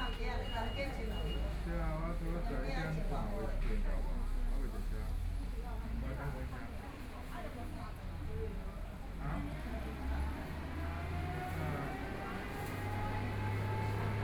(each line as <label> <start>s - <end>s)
Dialogue among the elderly 0.0s - 14.2s
Traffic Sound 9.5s - 14.2s